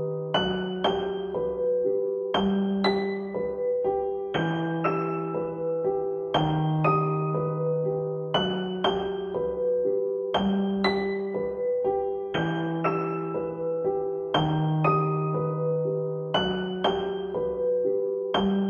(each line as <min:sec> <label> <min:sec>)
0:00.0 piano with melody 0:18.6